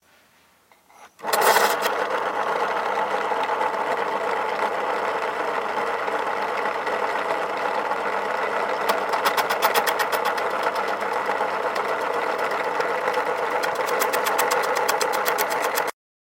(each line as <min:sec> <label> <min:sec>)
0:00.9 Pencil sharpener 0:02.1
0:08.5 Pencil sharpener 0:16.0